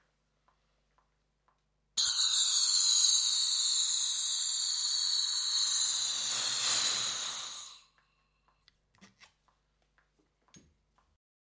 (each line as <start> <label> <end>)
2.0 Inflation of nos balloon 7.9